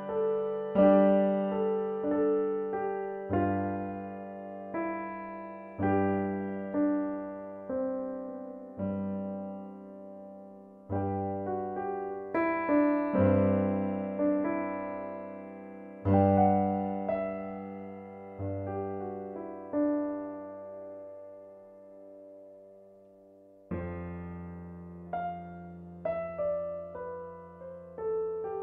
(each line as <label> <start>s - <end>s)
Melodic piano 0.0s - 28.6s